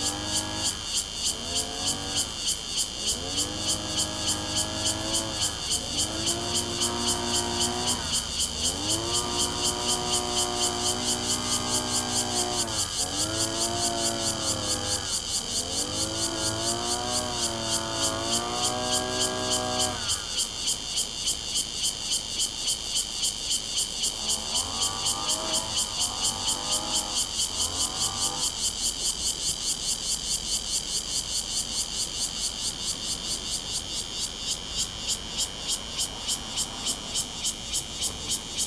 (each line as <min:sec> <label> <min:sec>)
0:00.0 Lawn mower 0:20.9
0:00.0 Cicadas sound 0:38.6
0:23.6 Lawn mower 0:30.5
0:35.8 Lawn mower 0:38.6